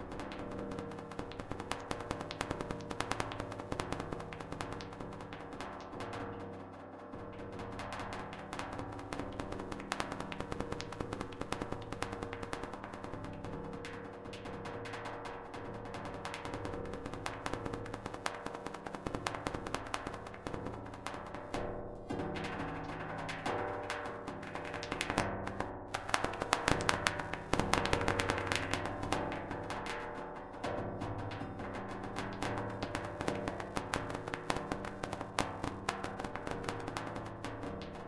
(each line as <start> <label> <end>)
22.2 Raining Drops in Sheet Metal 29.2